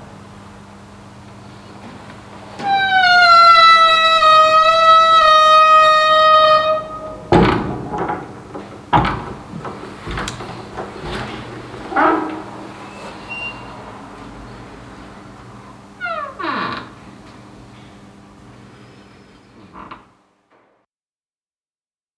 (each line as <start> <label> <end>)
2.6 singing door 17.0